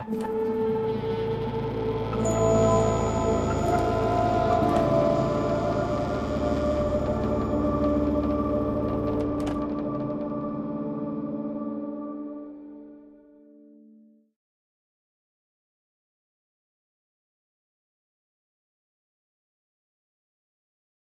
drone 0:00.0 - 0:13.1
creaking 0:02.3 - 0:10.4

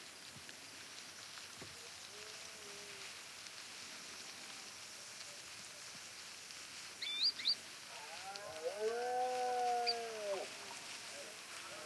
deers walking across dry vegetation 0:00.0 - 0:11.8
crickets 0:00.0 - 0:11.8
bird chirps 0:07.0 - 0:07.6
roaring of male Red-deer 0:07.8 - 0:11.8

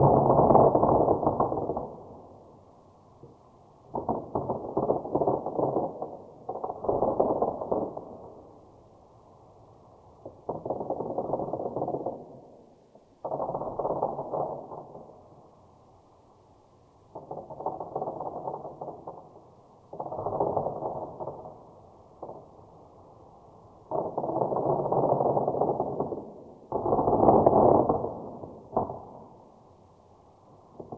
Distant Fireworks 0:00.0 - 0:30.9

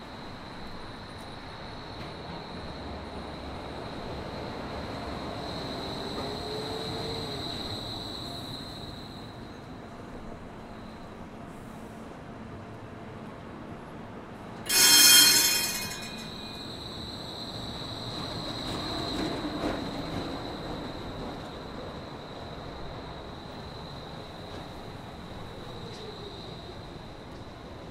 electric streetcar (trolley) approaching 0:00.0 - 0:27.9
bell ringing 0:14.7 - 0:16.7

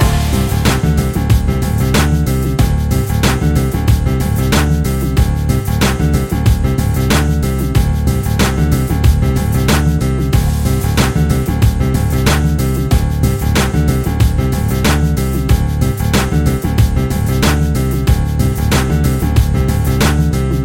music loop 0:00.0 - 0:20.6

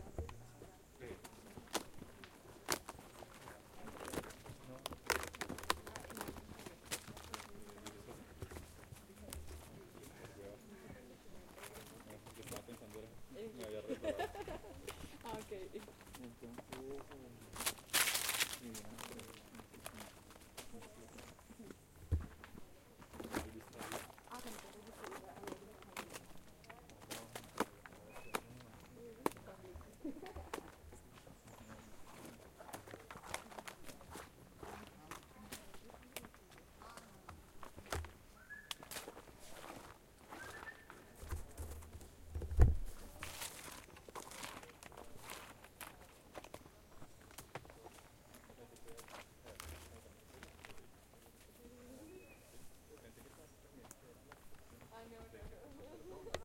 footprints 0:14.8 - 0:21.4
footprints 0:22.0 - 0:51.6

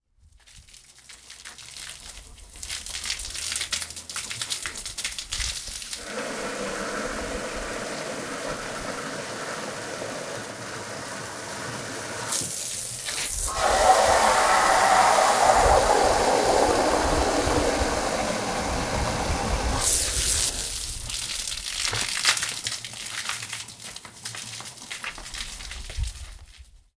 using a hose to wash his yard 0:00.2 - 0:26.9

